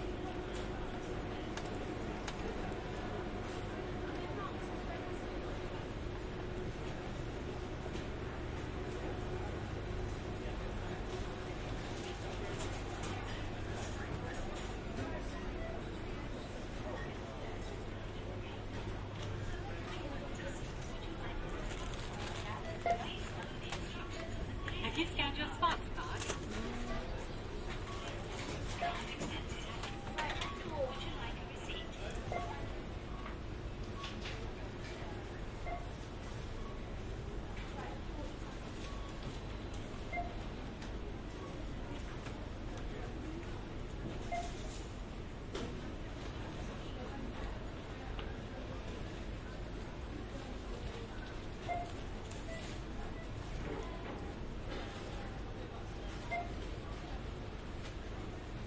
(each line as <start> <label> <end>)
0.0 people 44.9